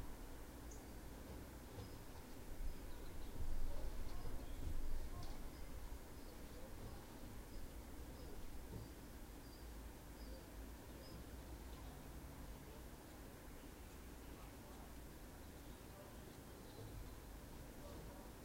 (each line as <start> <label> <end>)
0.0 birdsong 12.1
12.7 birdsong 18.4